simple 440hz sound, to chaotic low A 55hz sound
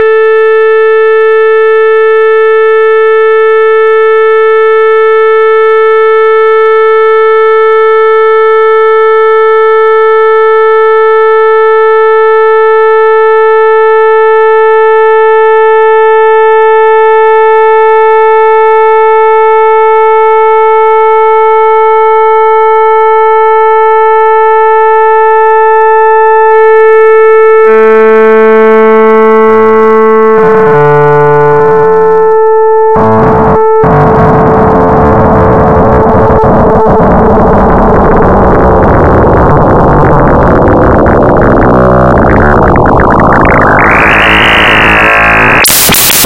0:33.0 0:46.2

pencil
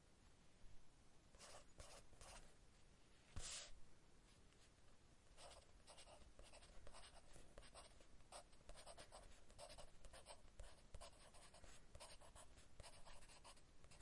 0:05.4 0:14.0

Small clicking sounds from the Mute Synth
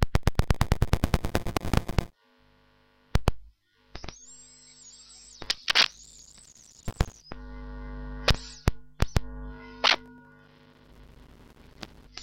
0:03.1 0:04.4, 0:05.0 0:07.6, 0:08.2 0:10.5, 0:11.4 0:12.2

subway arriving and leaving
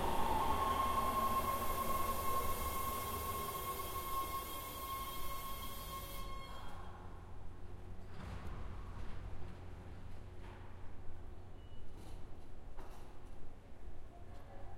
0:00.0 0:08.0

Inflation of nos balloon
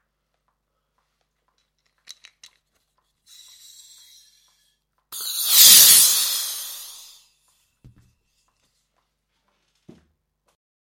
0:05.2 0:07.1

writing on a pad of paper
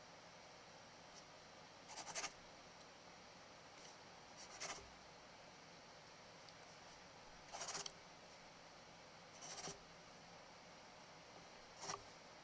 0:01.8 0:02.4, 0:03.8 0:04.9, 0:07.4 0:08.0, 0:09.4 0:09.8, 0:11.7 0:12.1

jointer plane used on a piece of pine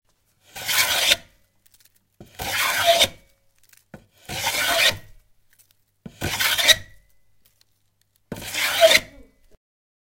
0:00.4 0:01.3, 0:02.2 0:03.2, 0:04.0 0:05.2, 0:06.1 0:07.0, 0:08.3 0:09.3

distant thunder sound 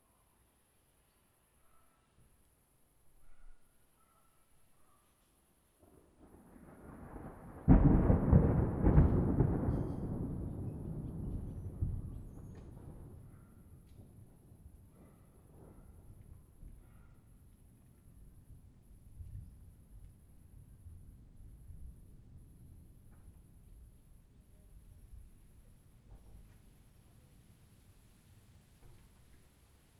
0:05.9 0:17.0

